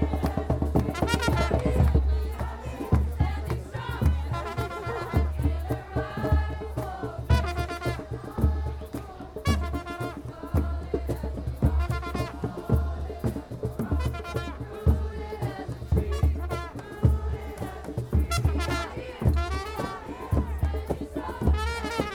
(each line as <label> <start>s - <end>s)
chanting 0.0s - 22.1s